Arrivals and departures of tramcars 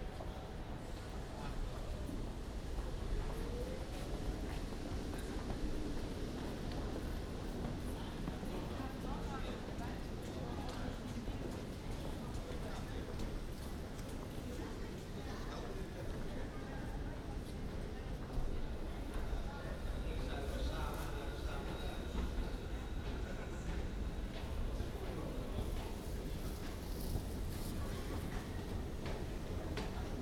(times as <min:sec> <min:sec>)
0:11.0 0:30.2